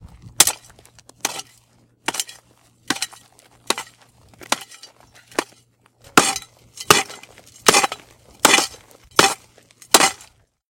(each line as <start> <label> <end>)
0.0 making holes in the ground 10.6